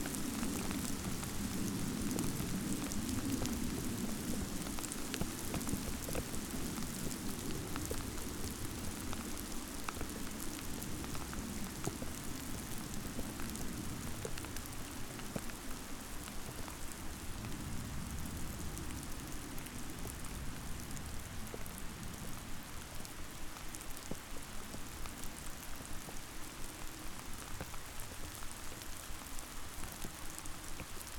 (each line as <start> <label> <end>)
0.0 Hail shower on a frozen lake 31.1